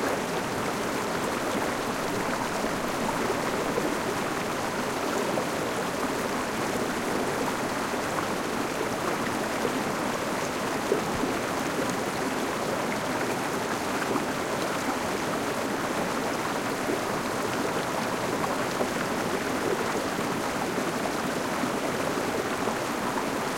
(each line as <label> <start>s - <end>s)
small river 0.0s - 23.5s